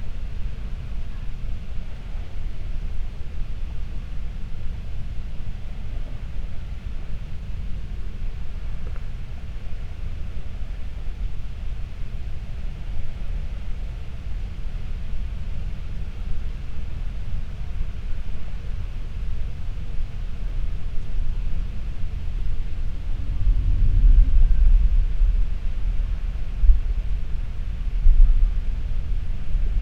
0.0s winds 29.8s

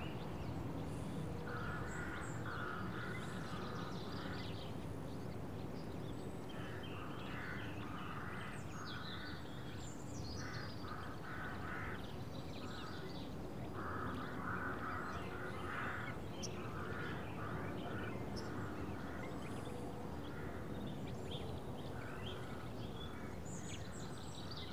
0.0s Morning birdsong 24.7s
1.4s crows 4.5s
6.5s crows 9.5s
10.4s crows 13.1s
13.8s crows 19.6s
20.2s crows 20.8s

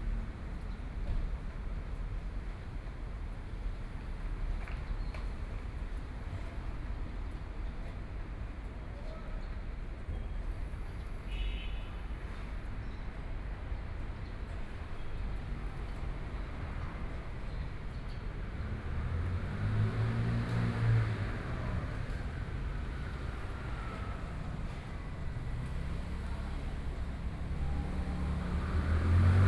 11.0s Traffic Sound 29.4s

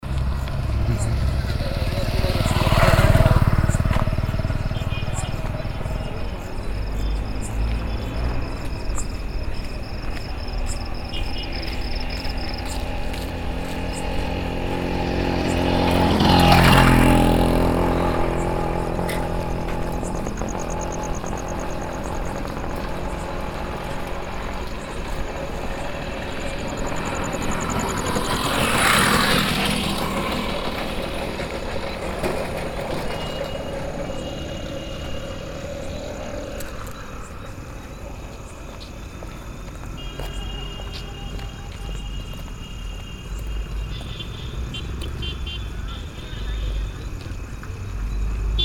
5.2s Walk 14.8s
30.7s Walk 45.2s
47.2s Walk 47.8s

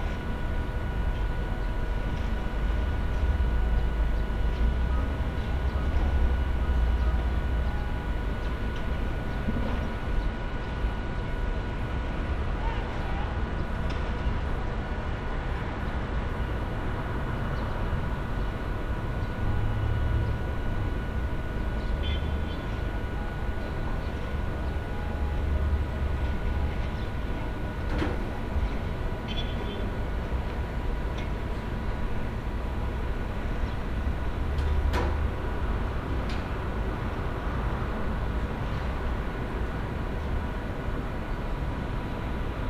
0.0s street noise 42.6s
22.0s characteristic short horn blows from taxi drivers 22.4s

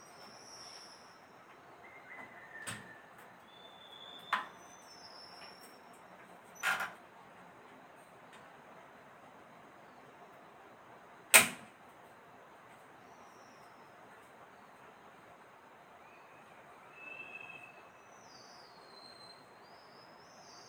0.0s Taiwan Whistling Thrush 6.0s
16.0s Taiwan Whistling Thrush 20.6s

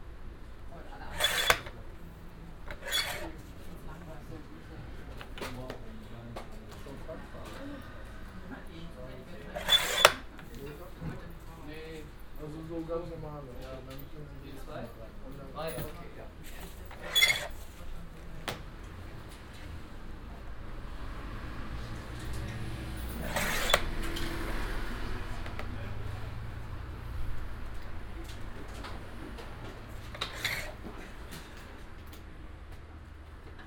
0.9s manuell bedienter papierschneider 1.8s
2.6s manuell bedienter papierschneider 3.8s
9.4s manuell bedienter papierschneider 10.7s

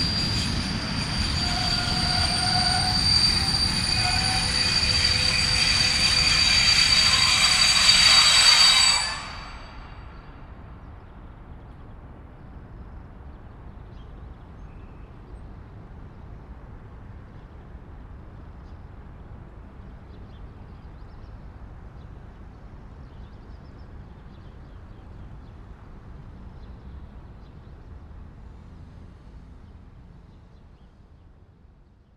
0.0s trains 32.1s

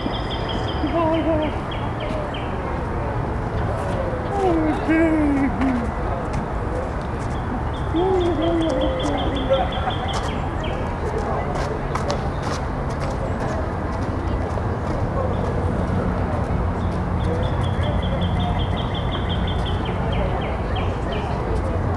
3.6s people shuffling along the path 17.9s

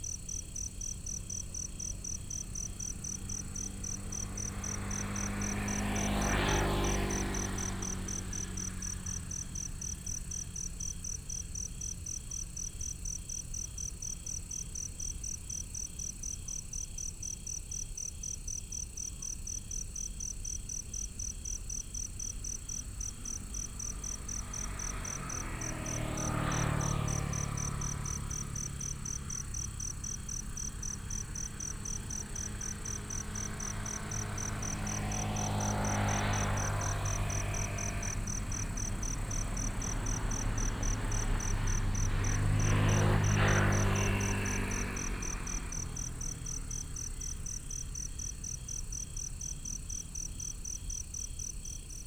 0.0s Insects sound 52.0s
0.0s Traffic sound 52.0s

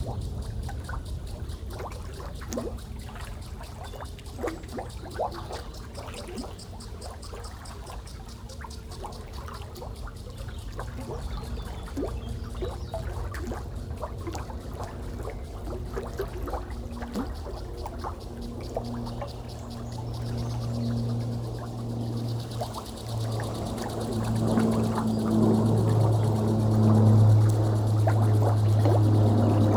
11.1s three planes 29.7s

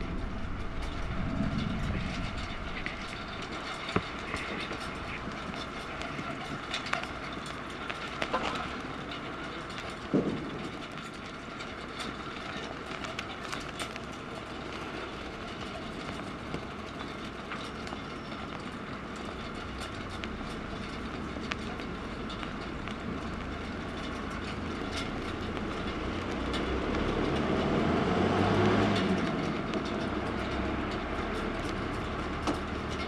0.0s military cargo flights 27.2s

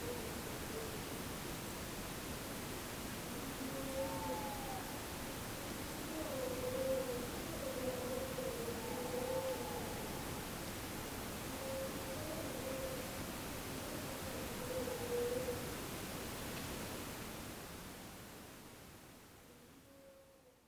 3.3s Owls 5.0s
6.0s Owls 10.5s
11.5s Owls 13.1s
13.8s Owls 15.7s

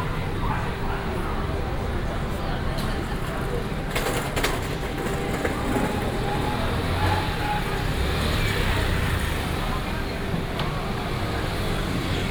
0.0s Traffic sound 12.3s
0.0s Walking in the night market 12.3s

